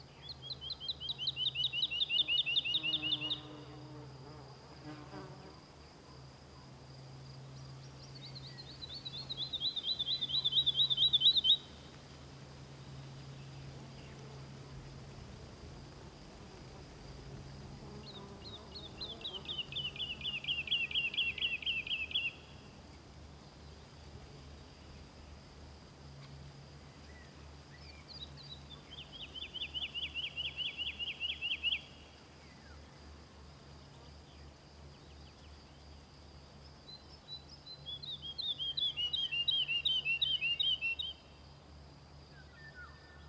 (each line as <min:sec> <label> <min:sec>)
0:00.0 song of the Woodlark 0:03.5
0:00.0 light breeze hissing the leaves in the birch and beach trees 0:43.2
0:07.8 song of the Woodlark 0:12.0
0:18.0 song of the Woodlark 0:22.8
0:26.9 song of the Woodlark 0:33.0
0:36.8 song of the Woodlark 0:41.4